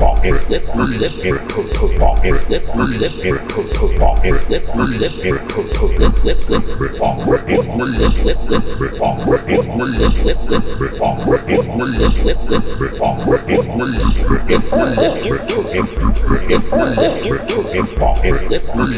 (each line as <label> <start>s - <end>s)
beat 10.0s - 10.8s
beat 12.0s - 12.9s
beat 14.0s - 18.9s